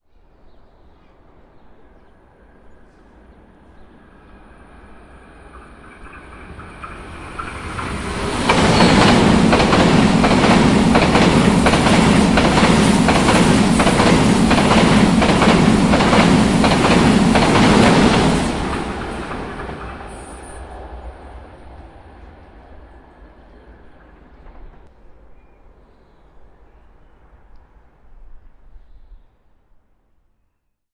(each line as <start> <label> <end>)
2.3 highspeed-train ICE passing 25.2